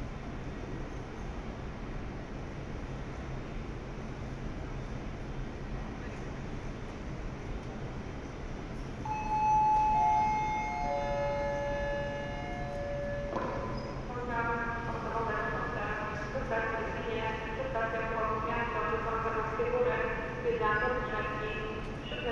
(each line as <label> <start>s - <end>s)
Platform announcements 9.1s - 13.3s